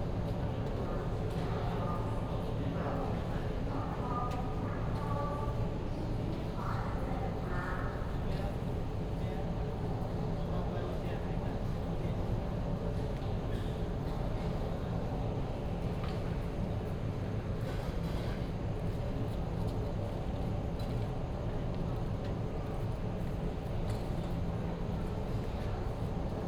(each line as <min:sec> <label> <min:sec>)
0:00.0 air conditioning noise 0:26.4